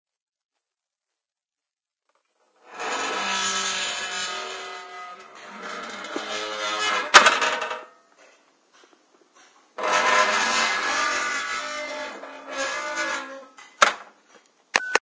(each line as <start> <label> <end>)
2.6 rusty metal gate 14.2